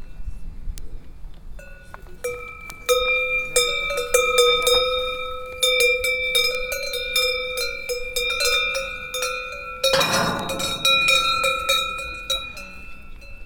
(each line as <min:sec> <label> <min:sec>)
0:01.8 Cows 0:13.0